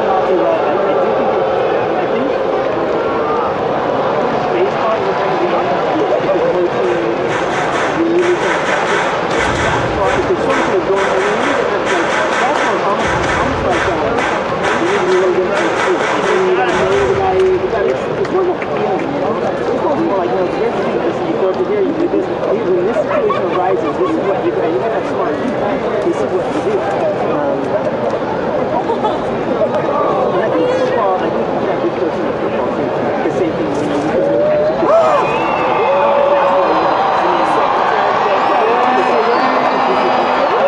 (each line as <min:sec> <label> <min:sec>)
0:00.0 baseball crowd sounds 0:40.6